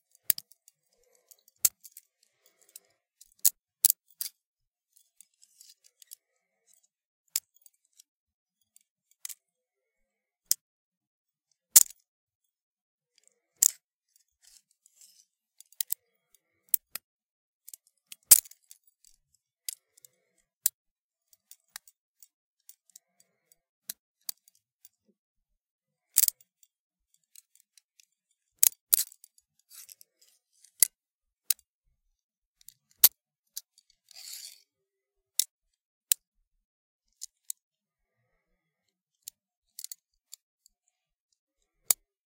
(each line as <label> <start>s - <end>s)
handcuffs being open, closed, and fiddled with 0.0s - 10.7s
handcuffs being open, closed, and fiddled with 11.3s - 42.2s